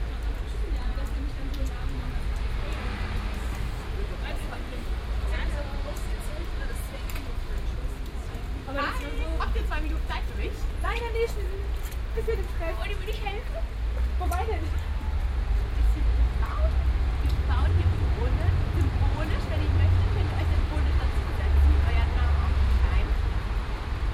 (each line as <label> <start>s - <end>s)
dialogue between some people 0.1s - 24.0s